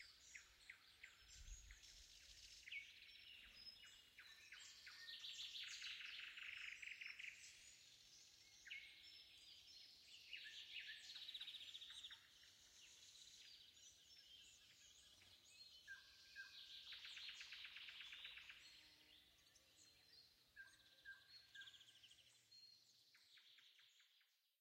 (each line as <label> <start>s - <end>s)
choirs of crickets 0.0s - 22.6s
nightingale 0.0s - 24.3s